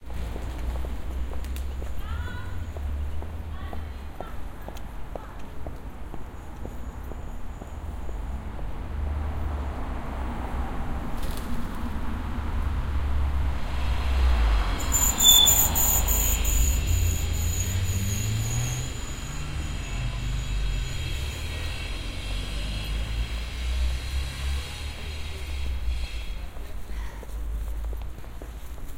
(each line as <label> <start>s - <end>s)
traffic 0.0s - 28.9s